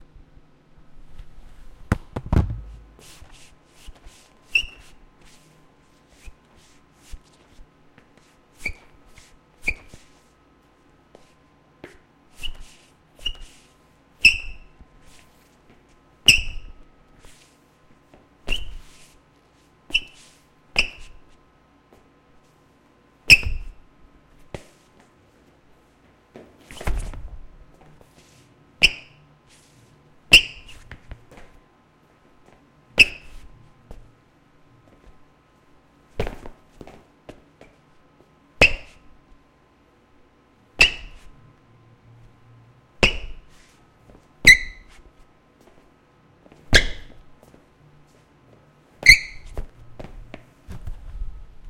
sneaker skid on floor 0:01.9 - 0:03.4

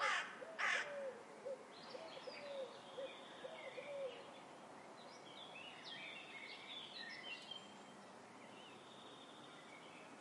carrion crow 0:00.0 - 0:01.2

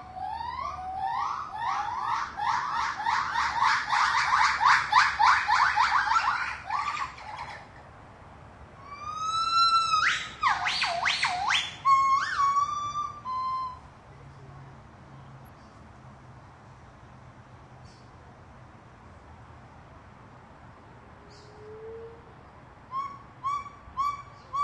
White-cheeked Gibbons calling 0:00.0 - 0:07.9
White-cheeked Gibbons calling 0:08.8 - 0:14.5
White-cheeked Gibbons calling 0:22.9 - 0:24.6

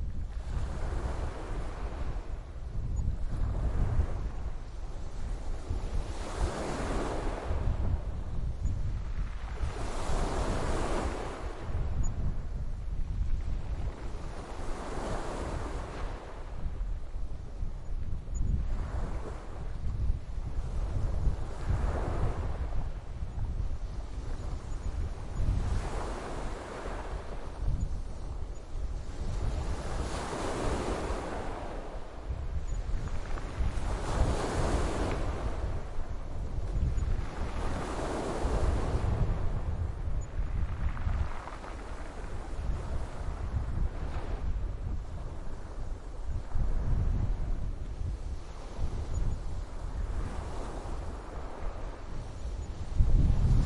waves 0:00.0 - 0:53.6

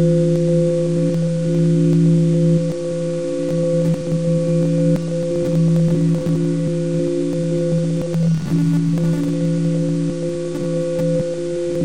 Unusual drone with artifacts 0:00.0 - 0:11.8

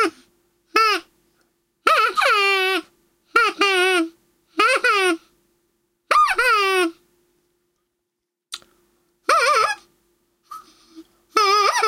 party squeaker 0:01.9 - 0:05.2
party squeaker 0:06.1 - 0:06.9
party squeaker 0:09.3 - 0:09.9
party squeaker 0:11.4 - 0:11.8

